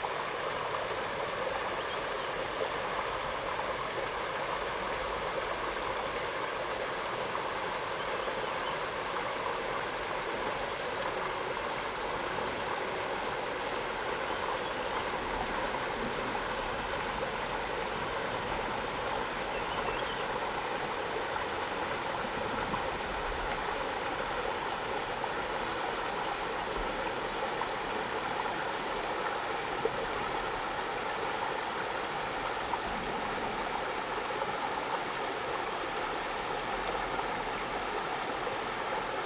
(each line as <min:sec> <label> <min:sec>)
0:00.0 Insect sounds 0:39.2
0:00.0 river 0:39.2